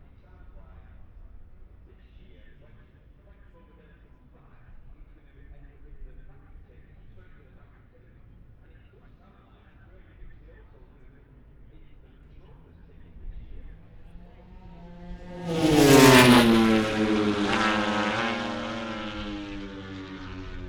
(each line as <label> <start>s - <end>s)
moto grand prix free practice four 10.1s - 20.6s